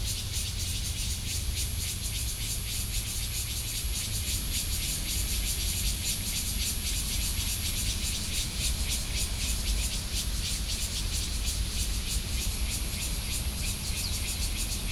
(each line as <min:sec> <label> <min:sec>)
0:00.1 Cicada sounds 0:14.9